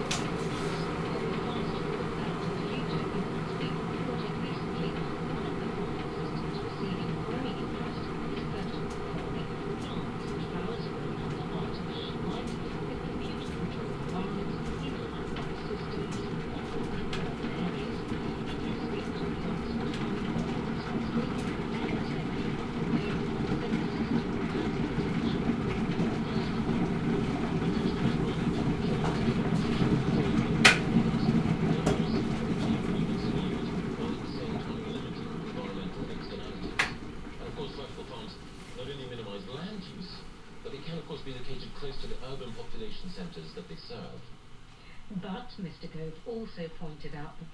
radio 0.1 - 44.3
radio 45.1 - 47.5

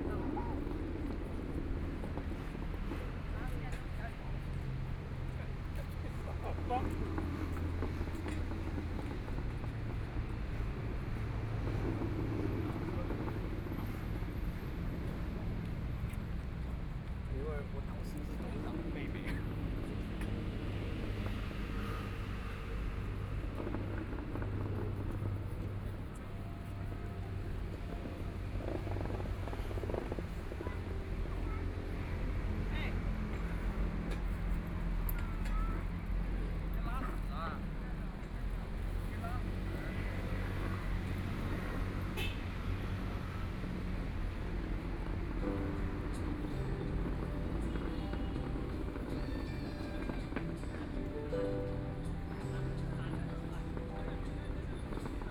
Traffic Sound 0.0 - 55.3
Walk in the park 0.0 - 55.3

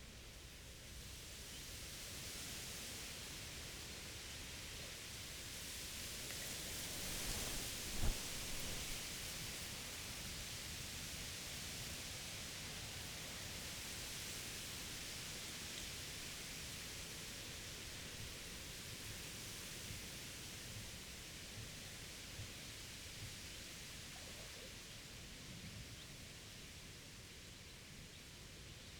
wind-blown reed 6.1 - 9.8
windturbine in the distance 6.2 - 9.7

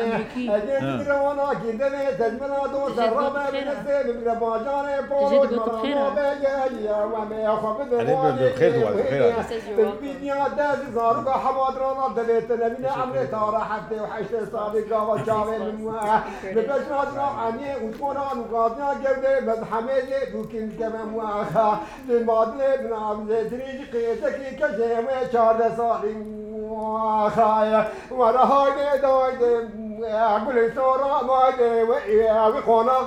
Kurdish traditonal dengbêj singers 0.0 - 33.0

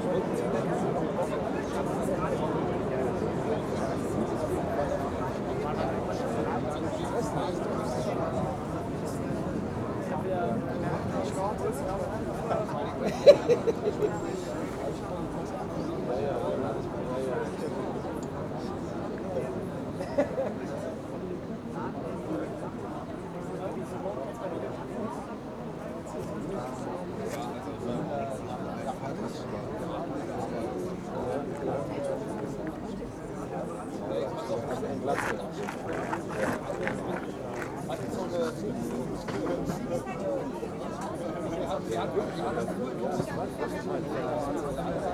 people enjoying a beer 12.2 - 14.7

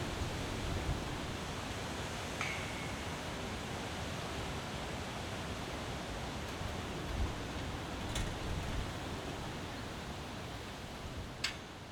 metal fence, which is moved by the wind 6.4 - 9.1
metal fence, which is moved by the wind 11.4 - 11.8

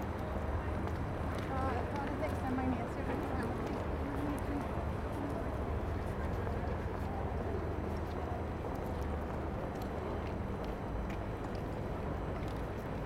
People walking 0.0 - 13.0

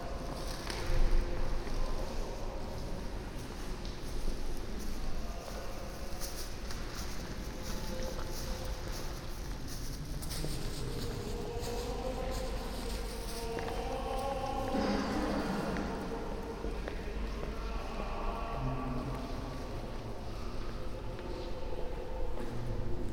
monk singing 0.0 - 23.1
steps of visitors 0.0 - 23.1

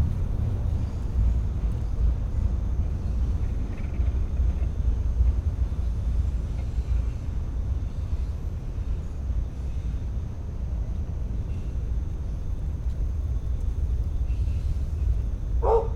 freight train passes 0.0 - 15.9
wind 0.0 - 15.9
crickets 0.2 - 15.9
barking 15.6 - 15.9

